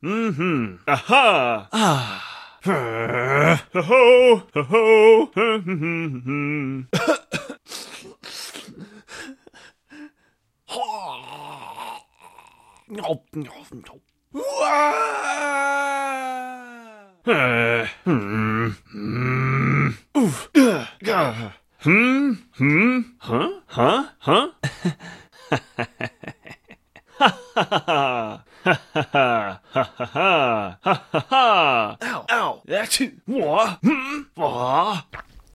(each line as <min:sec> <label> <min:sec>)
0:10.7 grunts 0:24.5
0:33.4 grunts 0:35.1
0:35.0 eating sounds 0:35.5